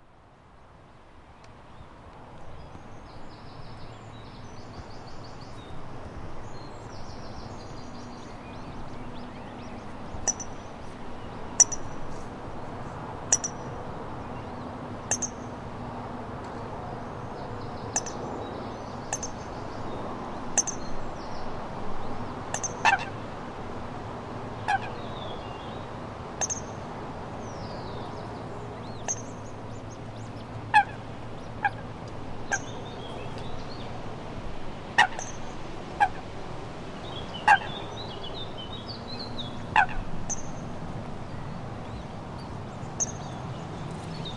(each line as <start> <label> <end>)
6.4 waterbirds tweeting 12.1
12.8 waterbirds tweeting 15.6
16.9 waterbirds tweeting 23.2
24.6 waterbirds tweeting 26.8
27.4 waterbirds tweeting 34.0
34.9 waterbirds tweeting 44.3